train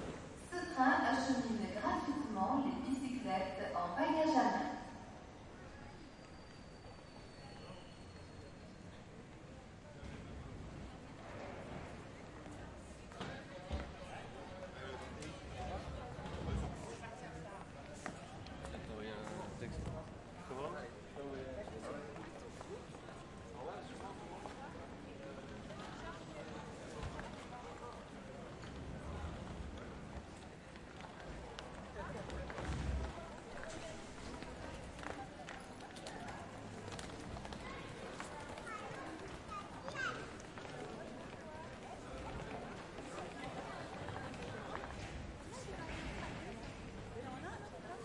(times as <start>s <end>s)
5.1s 12.9s